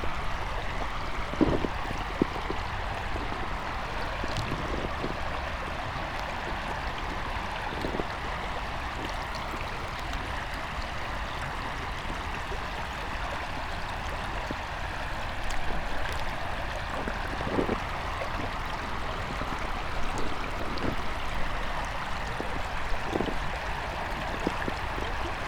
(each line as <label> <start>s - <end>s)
gravel 0.0s - 10.4s
river 0.0s - 25.4s
gravel 14.4s - 25.4s